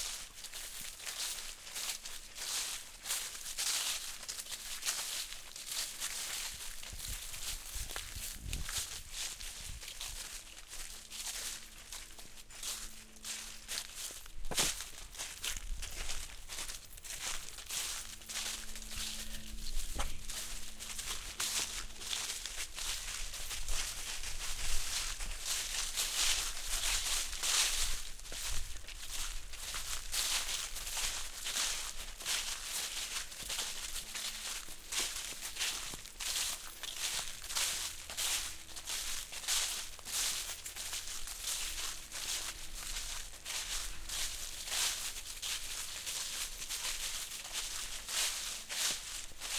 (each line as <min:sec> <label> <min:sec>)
0:00.0 Footsteps in Dry Leaves 0:49.5